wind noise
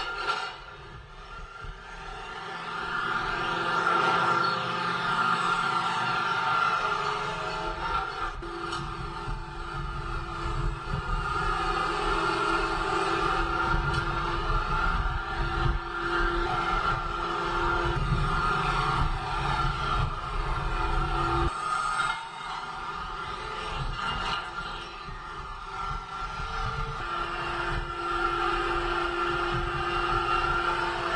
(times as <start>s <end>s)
7.8s 22.2s, 22.8s 31.1s